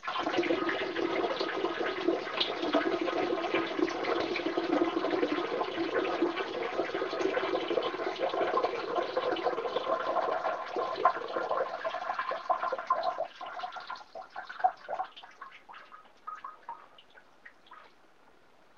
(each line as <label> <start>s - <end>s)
man urinating in toilet 0.0s - 18.0s